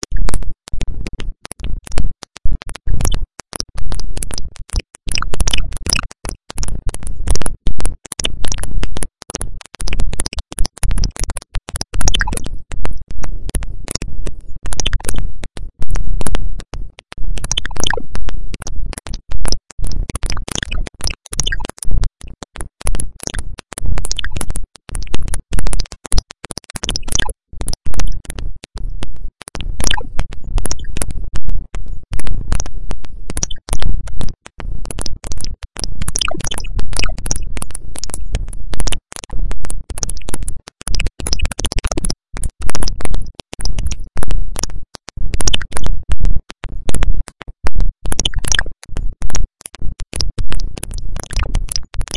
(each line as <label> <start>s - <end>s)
Clicky glitchy noise 0.0s - 52.1s